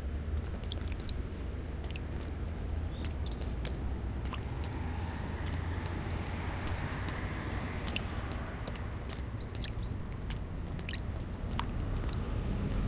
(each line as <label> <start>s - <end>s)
Cars 0.0s - 12.8s
Melting snow dripping from trees 0.0s - 12.8s
birds 1.8s - 11.0s
passing airplane 3.1s - 12.8s